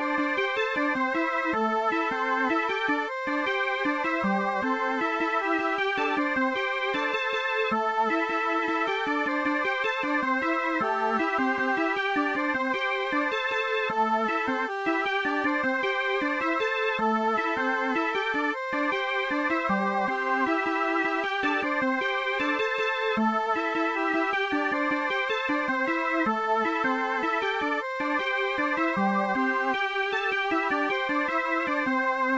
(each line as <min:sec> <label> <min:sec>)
0:00.0 Melody 0:32.3